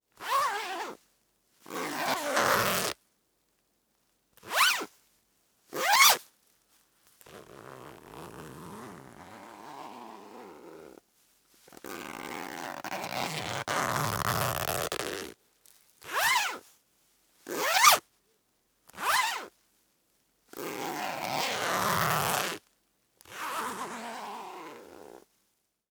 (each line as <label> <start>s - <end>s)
zipper lock 1.7s - 2.9s
zipper lock 5.8s - 6.2s
zipper lock 7.3s - 10.8s
zipper lock 11.8s - 15.3s
zipper lock 17.5s - 18.0s
zipper lock 20.6s - 22.6s
zipper lock 23.2s - 25.2s